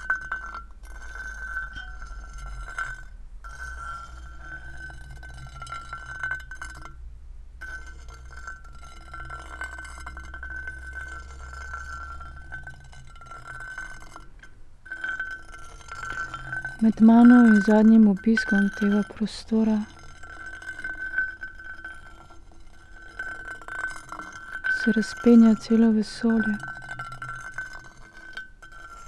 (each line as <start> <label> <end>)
0.0 stone and iron 29.0
16.8 spoken words 19.9
24.8 spoken words 26.6